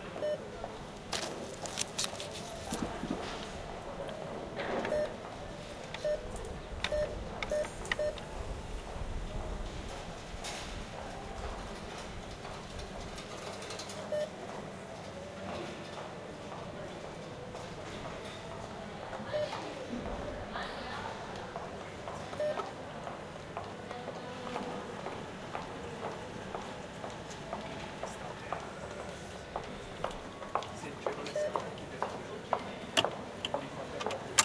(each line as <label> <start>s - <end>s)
female voices 19.1s - 21.4s
cash dispenser sound 34.0s - 34.4s